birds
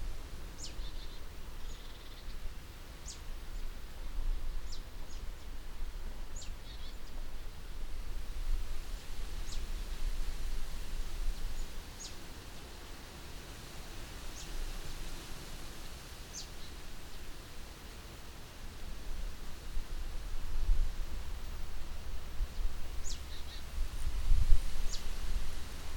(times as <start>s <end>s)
22.5s 23.7s